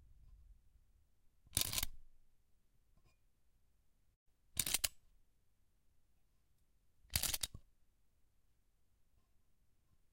little tin toy being winded up 0:01.6 - 0:01.9
little tin toy being winded up 0:04.6 - 0:04.9
little tin toy being winded up 0:07.1 - 0:07.5

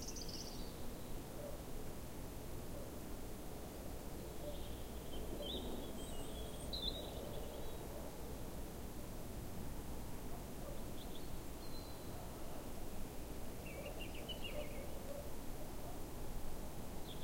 breeze in the trees 0:00.0 - 0:17.2
birds 0:13.6 - 0:15.3

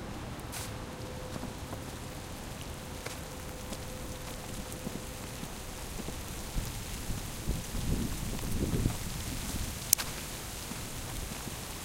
small snow storm start and stop 0:00.0 - 0:11.8

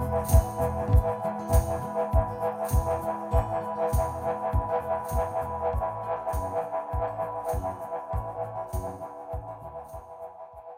Double bass 0:00.0 - 0:10.1
acoustic-guitar 0:00.0 - 0:10.2
tambourine 0:00.0 - 0:10.7
shaker 0:00.0 - 0:10.7
kick 0:00.3 - 0:10.0

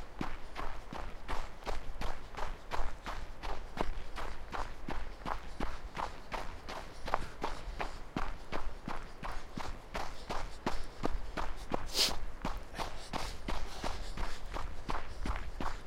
Jogging through a snowy forest 0:00.0 - 0:15.8
breath 0:05.1 - 0:08.5
breath 0:09.3 - 0:15.8

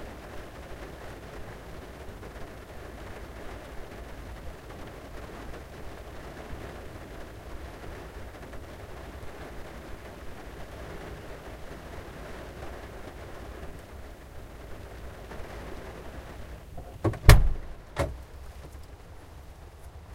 rain 0:00.0 - 0:20.1
Opening a car door in the rain 0:15.2 - 0:19.0

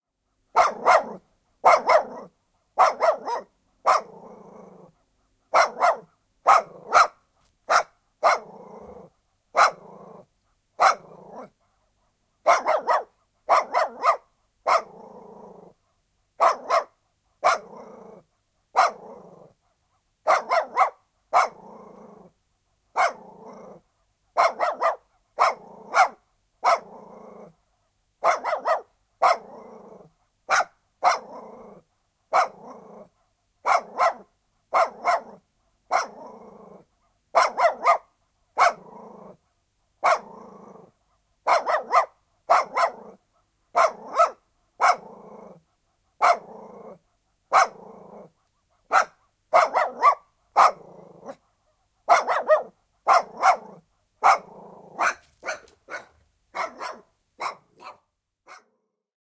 Dog barking 0:00.5 - 0:04.2
Dog barking 0:05.5 - 0:09.9
Dog barking 0:10.8 - 0:11.6
Dog barking 0:12.4 - 0:15.0
Dog barking 0:16.4 - 0:17.8
Dog barking 0:18.7 - 0:19.2
Dog barking 0:20.2 - 0:21.6
Dog barking 0:22.9 - 0:23.3
Dog barking 0:24.4 - 0:26.9
Dog barking 0:28.2 - 0:29.6
Dog barking 0:30.5 - 0:31.4
Dog barking 0:32.3 - 0:36.3
Dog barking 0:37.3 - 0:38.9
Dog barking 0:40.0 - 0:40.4
Dog barking 0:41.4 - 0:45.1
Dog barking 0:46.2 - 0:46.6
Dog barking 0:47.5 - 0:47.9
Dog barking 0:48.8 - 0:51.4
Dog barking 0:52.0 - 0:58.8

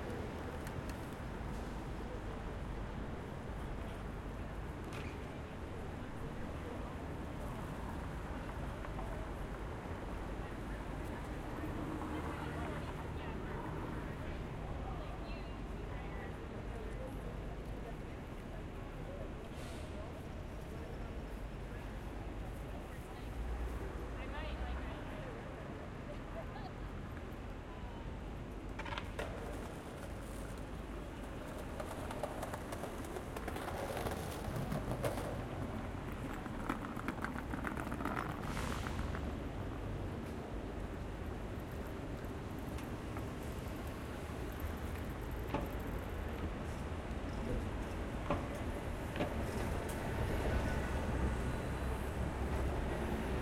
Buses 0:00.0 - 0:53.4
Light traffic 0:00.0 - 0:53.4
Skateboarders 0:28.4 - 0:53.4

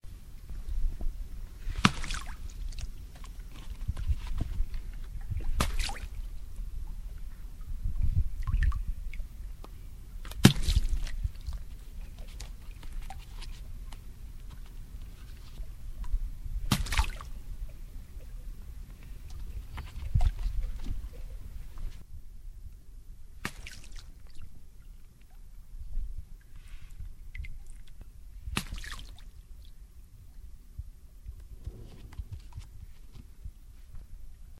dunking a ball in water 0:05.5 - 0:06.1
dunking a ball in water 0:10.3 - 0:11.2
dunking a ball in water 0:16.7 - 0:17.3

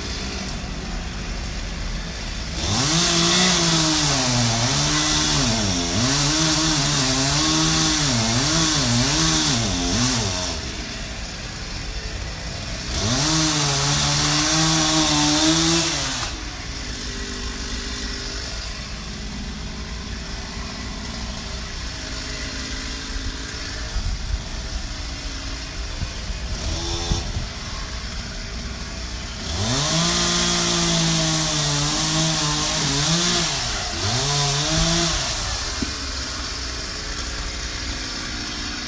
tree being chainsawed 0:00.0 - 0:38.8

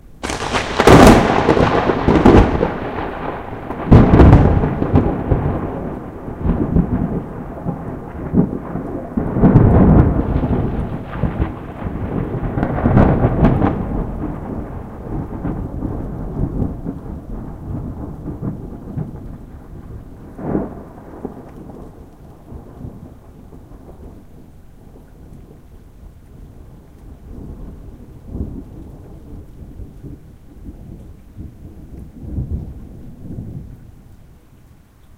thunder clap 0:00.2 - 0:24.2

